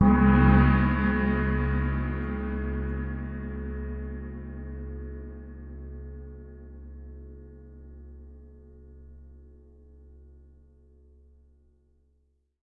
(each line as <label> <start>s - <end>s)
Crash Gong 0.0s - 6.2s